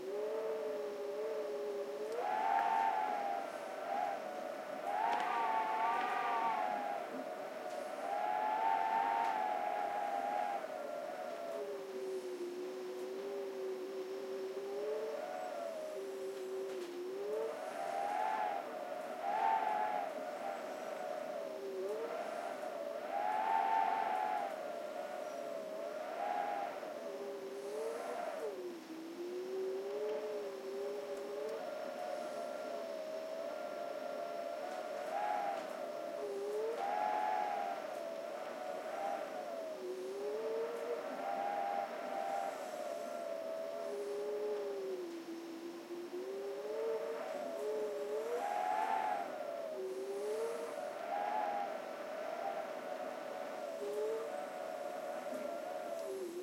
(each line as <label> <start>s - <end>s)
wind whistling through a crack in the window 0.0s - 56.4s